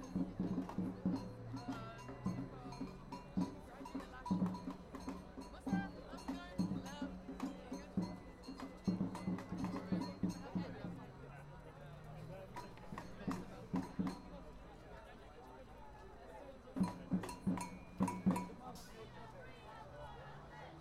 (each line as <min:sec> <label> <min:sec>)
0:00.0 samba group starts to play 0:20.8